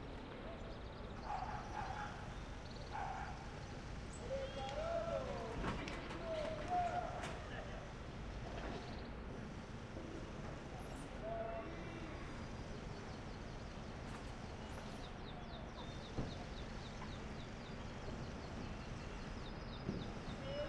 Humans 0.0 - 20.6

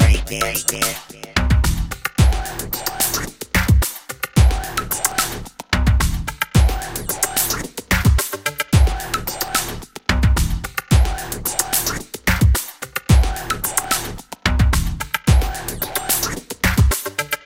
robot voice 0.0 - 1.6
Electro beat 0.0 - 3.8
Electro beat 4.4 - 5.4
Electro beat 6.6 - 8.2
Electro beat 8.8 - 9.8
Electro beat 10.4 - 14.1
Electro beat 15.3 - 17.0

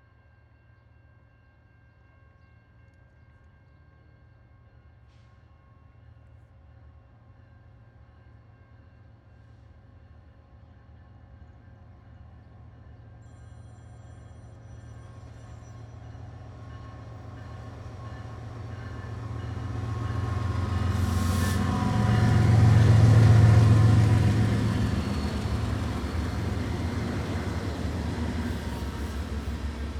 Empty Oil Train 20 mph 11.2 - 29.9
locomotive 15.7 - 29.9

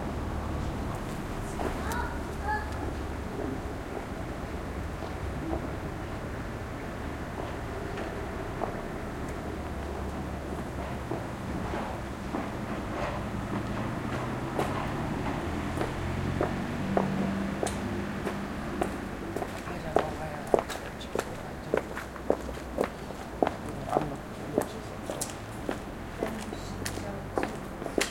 distant traffic 0.0 - 28.1
pedestrians 0.0 - 28.1

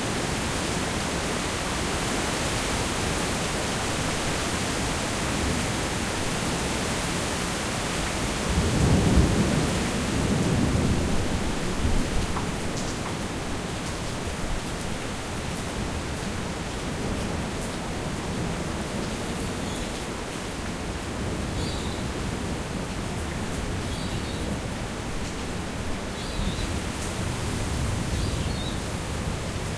Torrential rain 0.0 - 29.7
wind 0.0 - 29.7
Rainbow lorikeets shelter nearby and call to each other 28.2 - 28.9

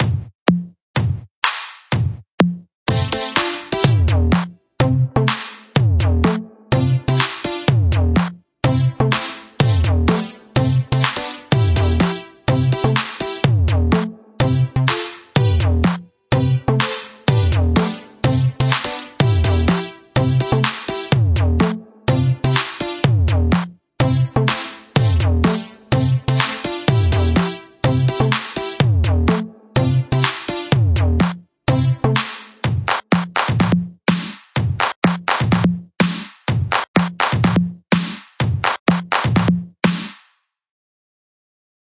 Drums 0.0 - 40.3
Synth 8.6 - 23.4
Synth 24.0 - 31.1

